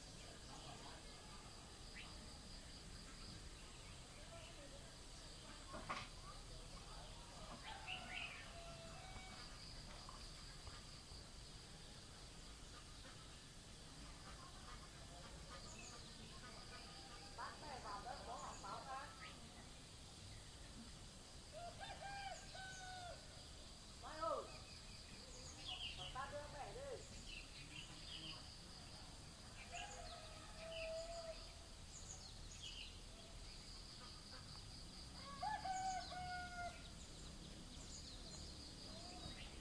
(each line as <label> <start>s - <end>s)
birds 0.0s - 39.6s
insects 0.0s - 39.6s
roosters 7.3s - 10.4s
roosters 21.5s - 23.4s
roosters 29.6s - 31.7s
roosters 35.1s - 37.0s